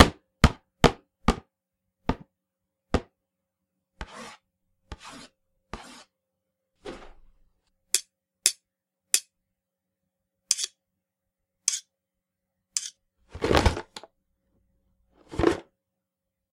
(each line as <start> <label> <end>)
12.8 scraping 13.8
13.3 drop a wooden box full of old computer parts 14.1